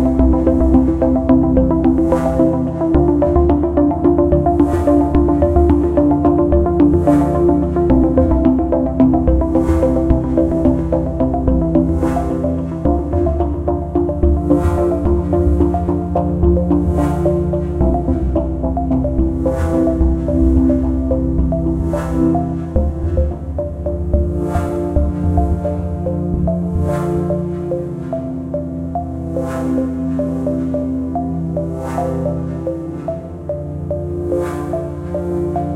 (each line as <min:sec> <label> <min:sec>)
0:00.0 Space pad 0:35.7
0:00.0 drone 0:35.7